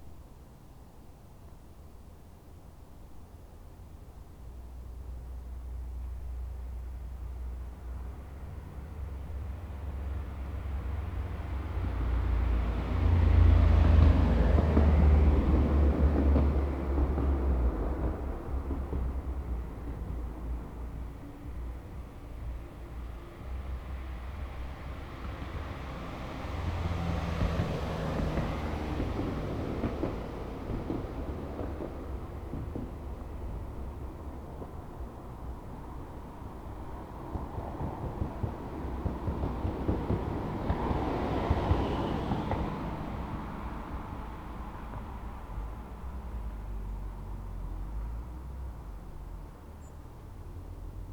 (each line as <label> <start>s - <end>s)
cars passing over bumps 8.2s - 51.1s